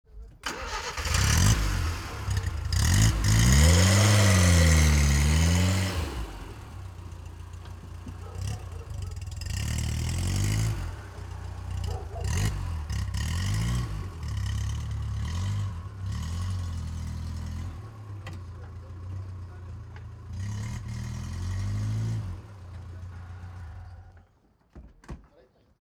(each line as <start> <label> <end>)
0.1 FIAT 600 engine start 13.2